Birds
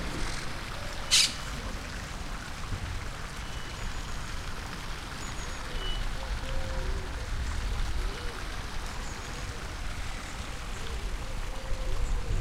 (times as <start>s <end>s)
0.0s 1.7s